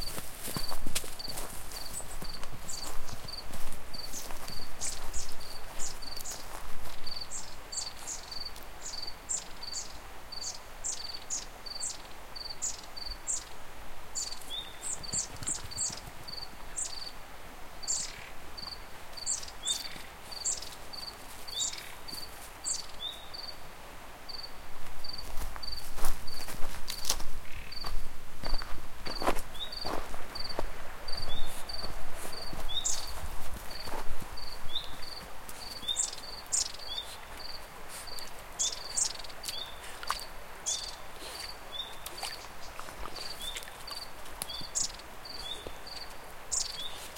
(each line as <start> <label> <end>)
0.0 footstep sounds on different ground 9.2
0.0 river 47.1
18.6 footstep sounds on different ground 23.3
24.4 footstep sounds on different ground 47.1